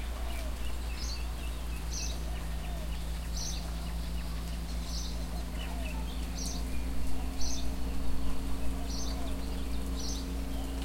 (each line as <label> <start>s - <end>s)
soft rain 0.0s - 10.8s